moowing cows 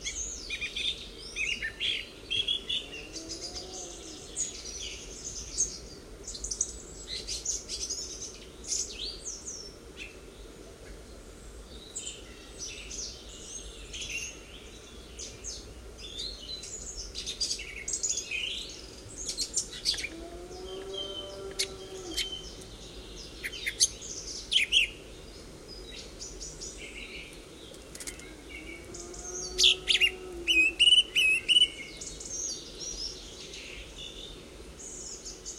20.0 22.6, 28.3 30.9

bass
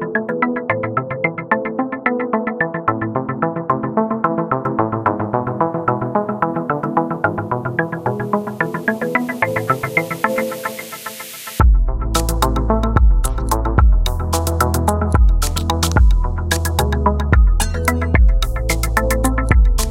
11.6 19.9

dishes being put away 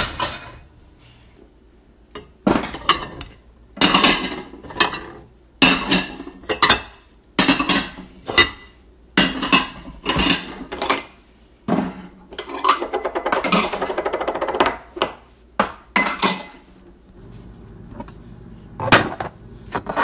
0.0 0.7, 2.2 16.7

